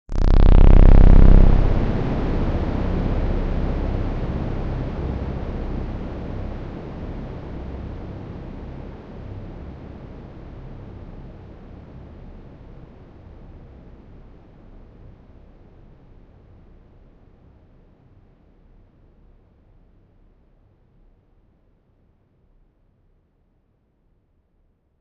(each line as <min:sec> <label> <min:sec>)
0:00.1 long reverb tail 0:06.0